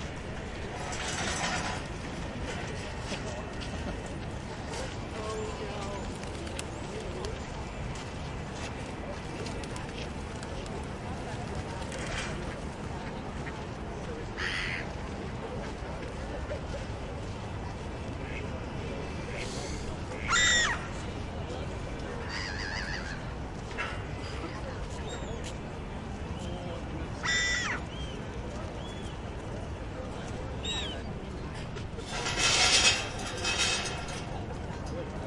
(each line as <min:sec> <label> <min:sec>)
0:00.4 chairs movements on the gravel 0:04.0
0:31.5 chairs movements on the gravel 0:35.2